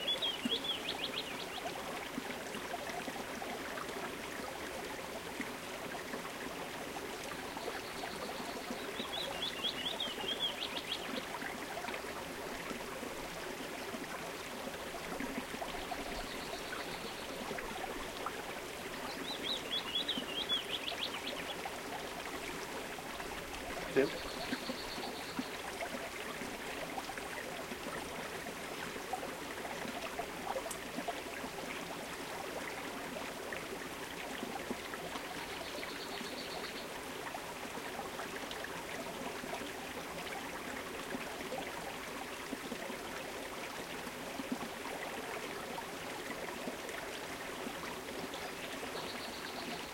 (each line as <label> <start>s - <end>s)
bird song 0.0s - 1.7s
Bubble, murmur of small stream 0.0s - 49.9s
bird song 7.4s - 11.3s
bird song 15.7s - 17.4s
bird song 18.9s - 21.7s
bird song 23.9s - 25.6s
bird song 35.4s - 36.9s
bird song 48.3s - 49.9s